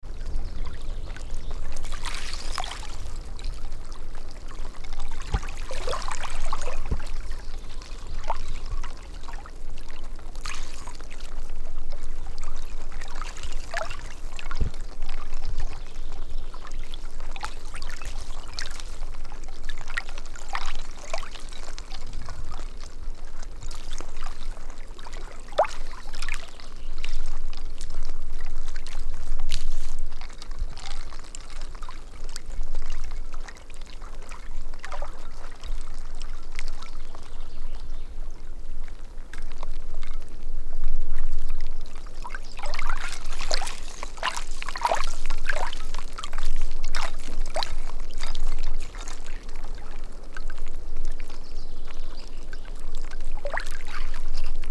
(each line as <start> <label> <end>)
0.0 Water lapping against rapidly thawing ice on lake 40.4
41.0 Water lapping against rapidly thawing ice on lake 54.7